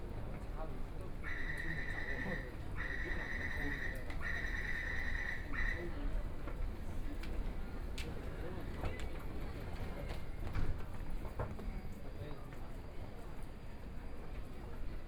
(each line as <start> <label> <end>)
0.0 Walking in the underground mall 15.0